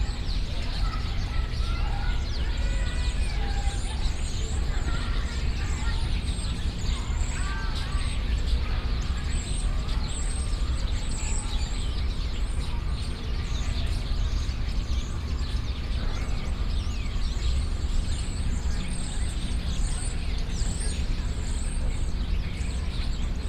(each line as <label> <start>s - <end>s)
Birds 0.0s - 23.4s